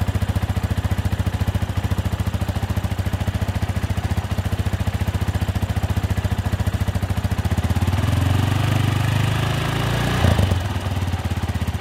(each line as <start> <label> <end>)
0.0 motorcycle 11.8